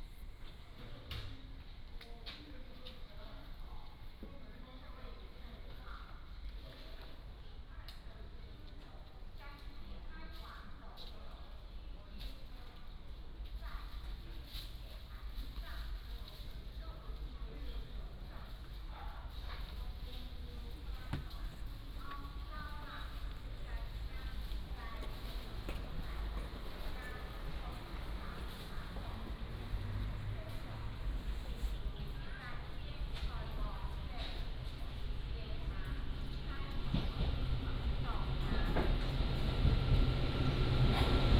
20.8s Train arrived 41.3s

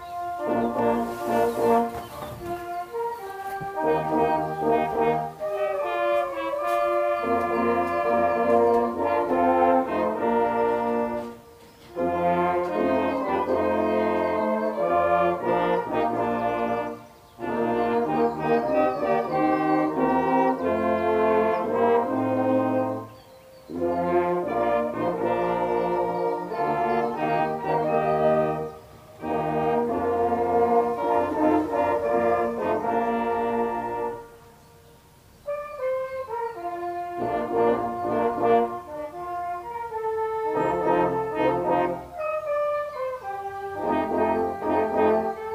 0.0s brassband 45.5s

